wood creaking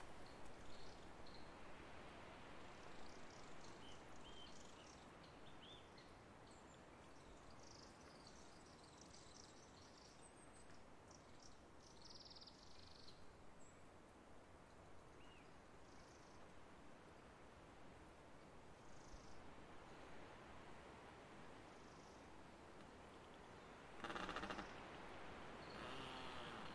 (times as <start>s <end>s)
24.0s 24.7s, 25.7s 26.7s